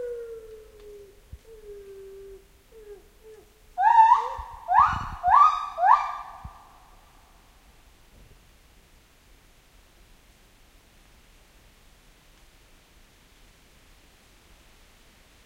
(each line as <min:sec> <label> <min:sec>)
0:06.5 rain 0:15.4